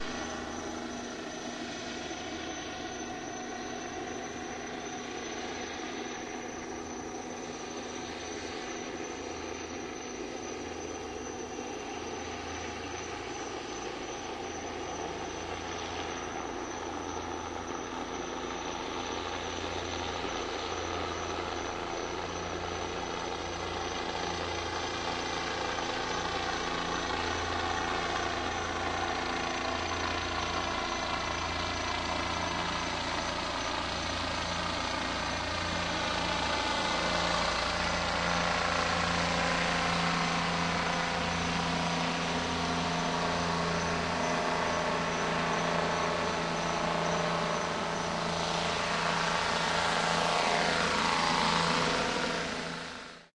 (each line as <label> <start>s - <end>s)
Police helicopter 0.0s - 53.3s
insect chirps 0.1s - 53.0s
dozen cop cars 26.1s - 53.2s